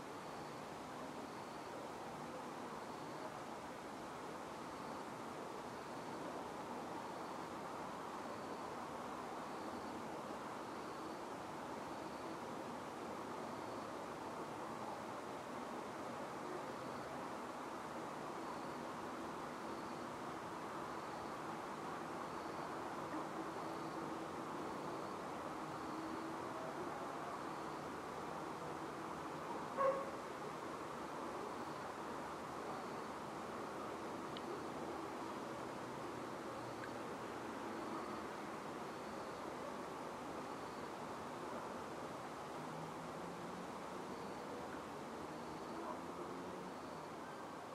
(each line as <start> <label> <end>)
0.0 crickets 47.7
29.8 dogs 30.2